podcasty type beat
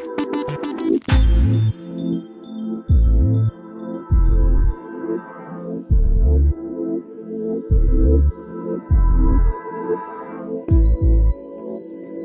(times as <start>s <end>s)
0.0s 1.8s, 2.9s 3.5s, 4.1s 4.8s, 5.9s 6.6s, 7.7s 8.3s, 8.9s 9.6s, 10.7s 11.4s